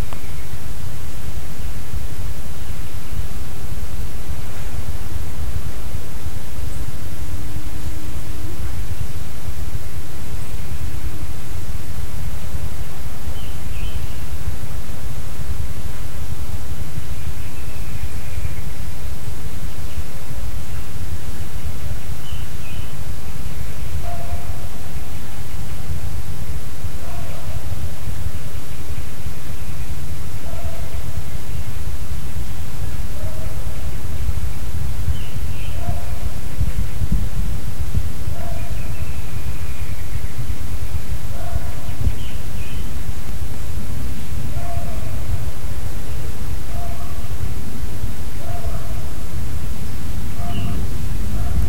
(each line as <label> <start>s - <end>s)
birds 0.0s - 0.7s
wind 0.0s - 51.6s
birds 12.2s - 14.4s
birds 17.0s - 19.0s
birds 19.6s - 26.0s
birds 27.0s - 37.3s
birds 38.3s - 43.1s
birds 44.0s - 47.6s
birds 48.4s - 51.6s